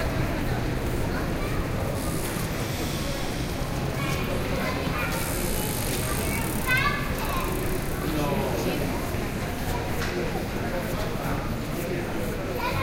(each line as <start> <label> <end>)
0.0 chattering from the surrounding crowd 12.8
0.0 walking through a mall 12.8